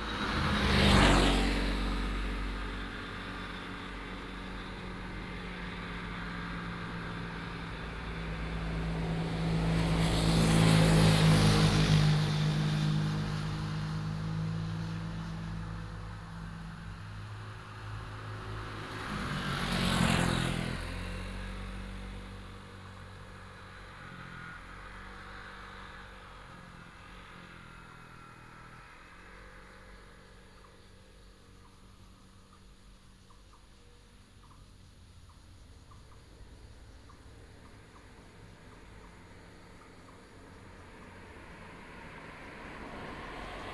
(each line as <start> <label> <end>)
0.0 traffic sound 43.7